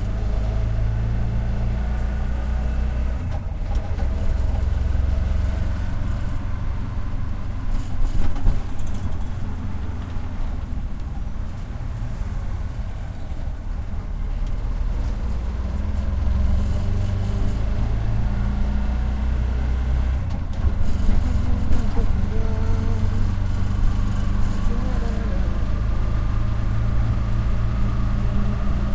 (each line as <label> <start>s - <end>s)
AUTO RICKSHAW 0.0s - 28.9s
TRAFFIC 0.0s - 28.9s